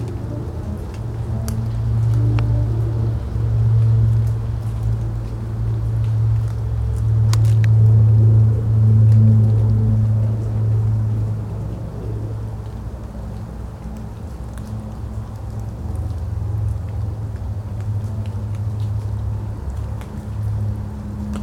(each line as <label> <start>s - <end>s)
music from a distant concert 0.0s - 6.2s
water dripping from the trees 0.0s - 21.4s